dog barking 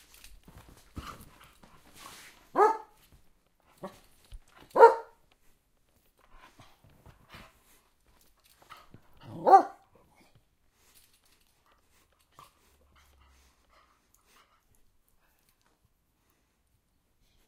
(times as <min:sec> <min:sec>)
0:02.5 0:03.0, 0:04.7 0:05.2, 0:09.3 0:09.8